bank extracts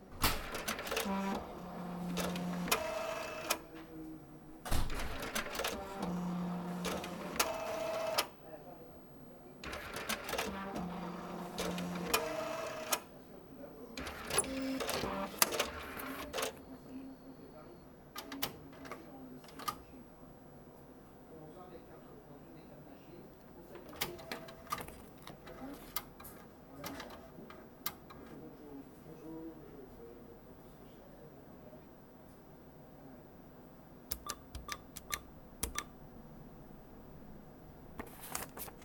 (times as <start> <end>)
38.0 38.8